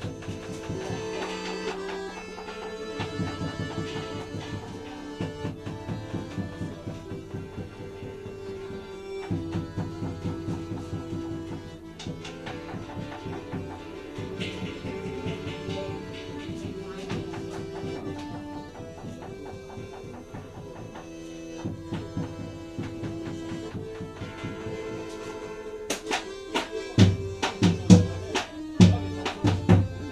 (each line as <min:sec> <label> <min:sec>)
0:00.0 songs 0:30.1
0:03.1 drums 0:30.1